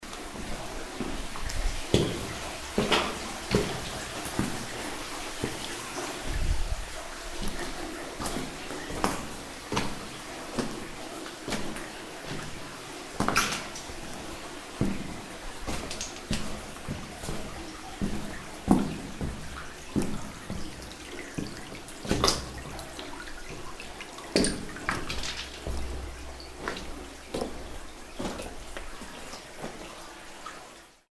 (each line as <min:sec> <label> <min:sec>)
0:00.0 water 0:31.1
0:00.0 steps in tunnel 0:30.8